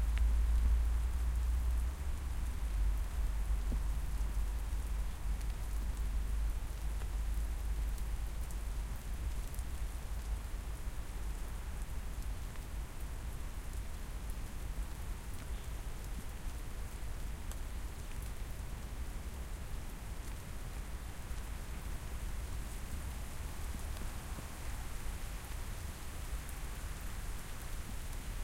rain 0.0 - 28.4
wind 0.0 - 28.4

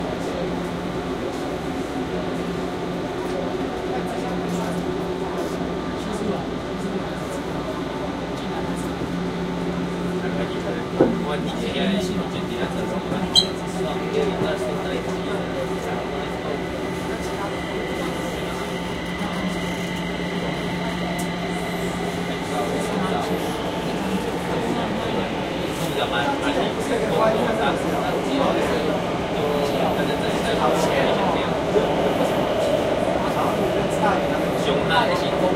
Train Moving 0.0 - 35.5

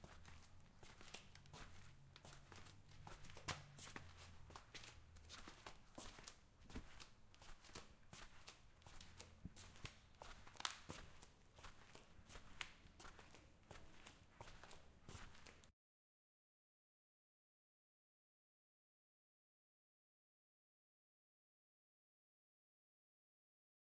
Flip Flops On tiles 0.0 - 15.7

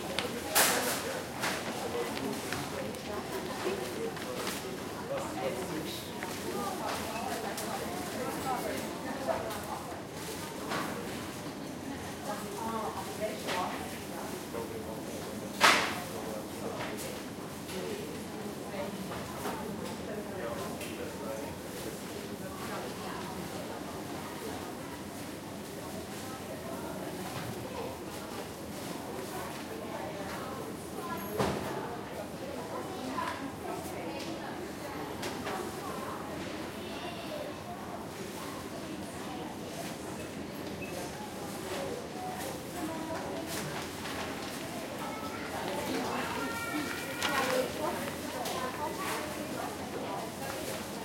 people talking 0.0 - 51.0

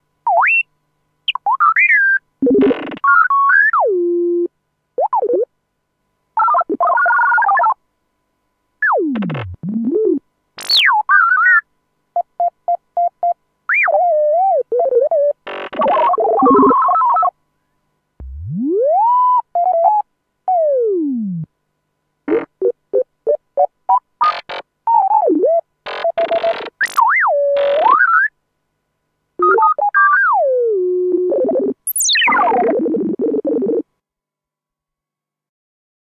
analogue synth 29.4 - 33.8

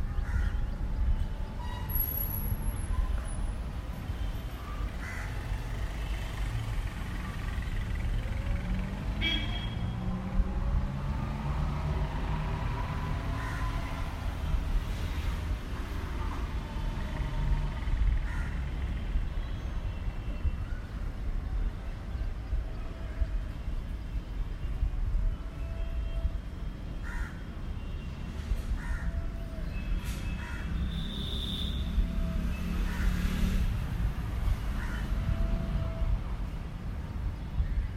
light passing vehicles 1.0 - 25.0
light passing vehicles 26.6 - 37.9

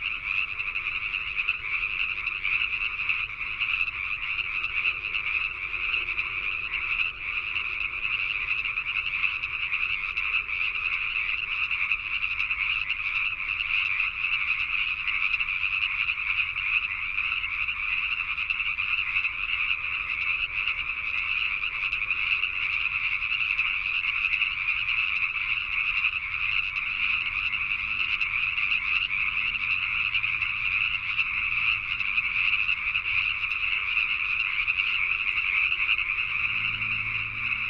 frogs 0.0 - 37.6

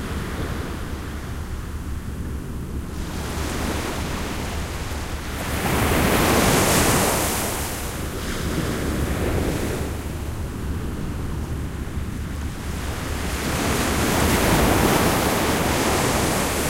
waves 0.0 - 16.6

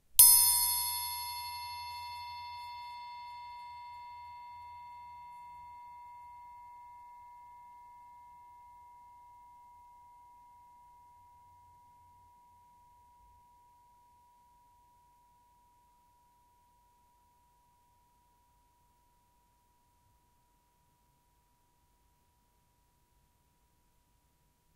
Punch to music triangle 0.2 - 3.6

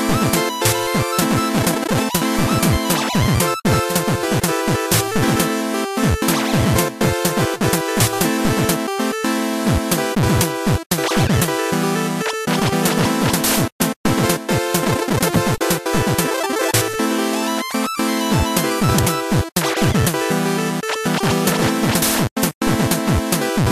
electronica genre music 0.0 - 23.7

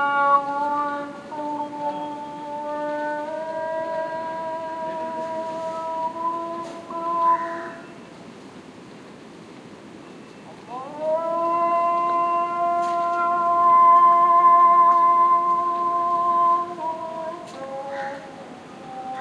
call to prayer 0.0 - 8.0
call to prayer 10.5 - 19.2
crows 17.8 - 18.4

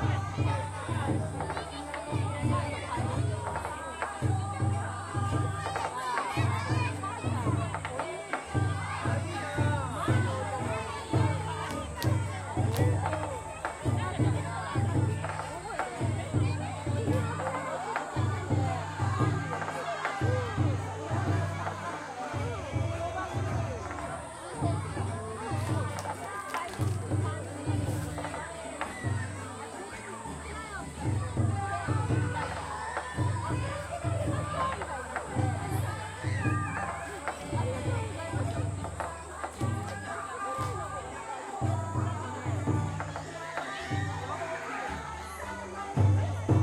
people talinkg 0.0 - 46.6
taiko drums sounds 0.0 - 44.3

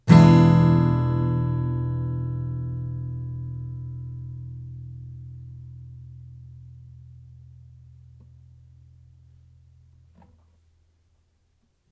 Chords strummed with a metal pick 0.0 - 10.2

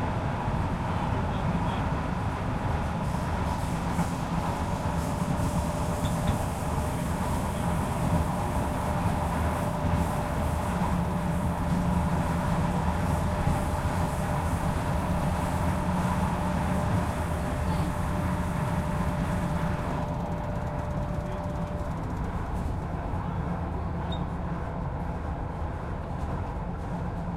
train underground metro subway enters station 0.0 - 27.3

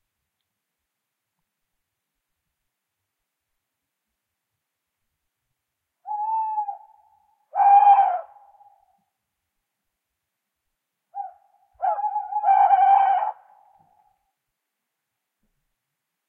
two male Tawny owls (Strix aluco) hooting 6.0 - 9.1
two male Tawny owls (Strix aluco) hooting 11.1 - 14.3

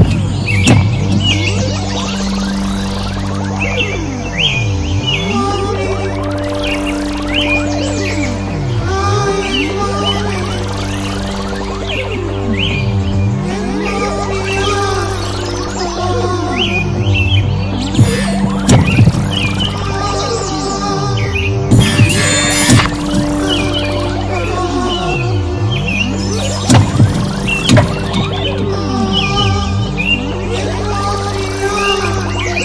Drone 0.0 - 32.6

